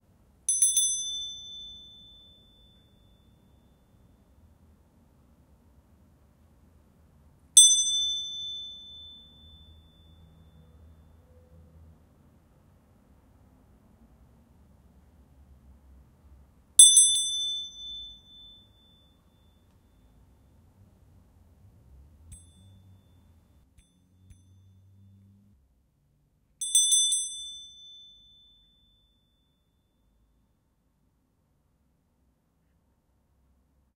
beats of small bronze bell 0:00.5 - 0:04.1
beats of small bronze bell 0:07.6 - 0:11.2
beats of small bronze bell 0:16.8 - 0:20.2
beats of small bronze bell 0:22.3 - 0:25.2
beats of small bronze bell 0:26.6 - 0:29.8

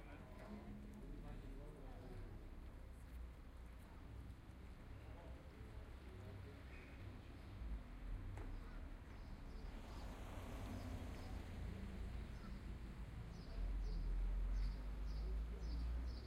traffic 0:00.0 - 0:16.2

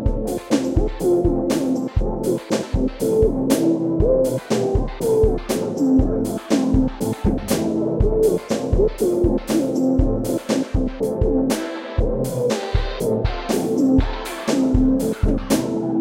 basic drum pattern 0:00.0 - 0:16.0
fake sequenced filter 0:00.0 - 0:16.0

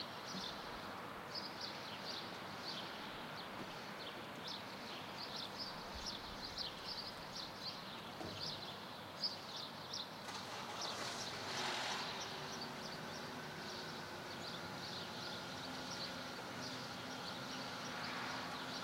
wind 0:00.0 - 0:18.8

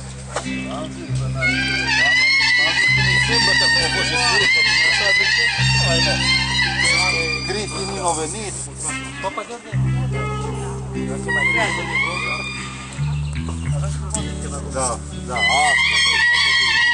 Man plays a song on a leaf 0:00.0 - 0:16.9

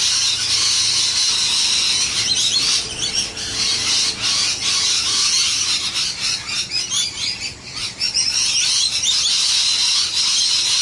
Lawnmower 0:00.0 - 0:07.8
Parrots 0:00.0 - 0:10.8

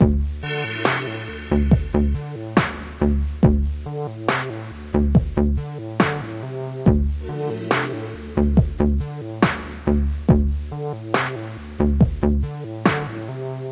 music 0:00.0 - 0:13.7

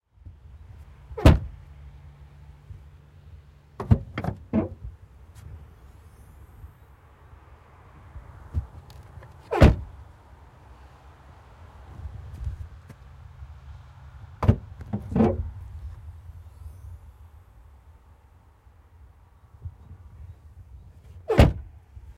Renault Duster trunk open close 0:01.2 - 0:01.5
Renault Duster trunk open close 0:03.8 - 0:04.9
Renault Duster trunk open close 0:09.5 - 0:09.9
Renault Duster trunk open close 0:14.4 - 0:15.6
Renault Duster trunk open close 0:21.3 - 0:21.7

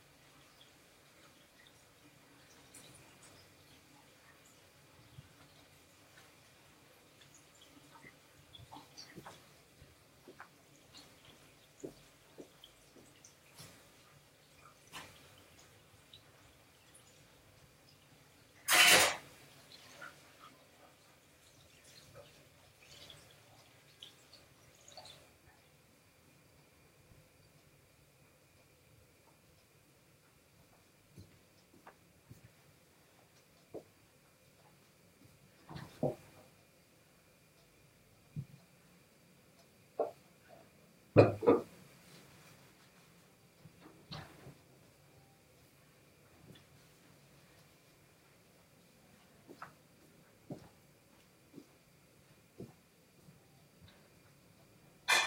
grandma cooking 0:00.0 - 0:26.1
grandma cooking 0:39.8 - 0:44.6
grandma cooking 0:55.0 - 0:55.2

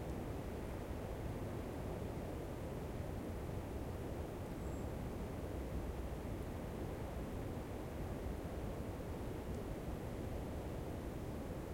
wind 0:00.0 - 0:11.7

